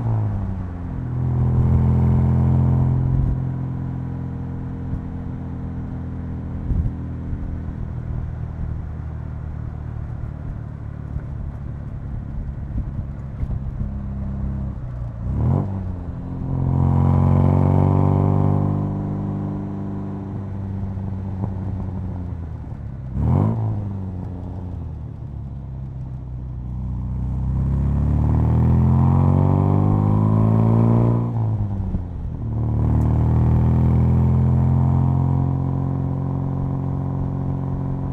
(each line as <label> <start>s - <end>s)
british sports car 0.0s - 38.1s